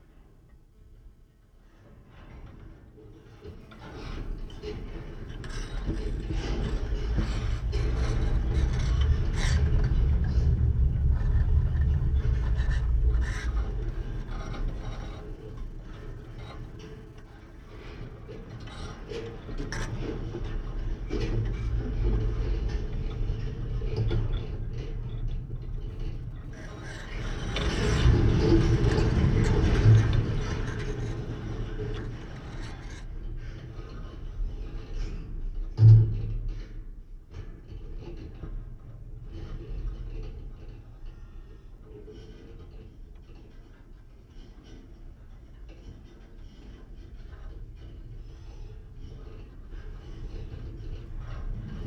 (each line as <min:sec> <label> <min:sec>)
0:04.0 Singing/rumbling wire 0:32.8
0:47.2 Singing/rumbling wire 0:51.8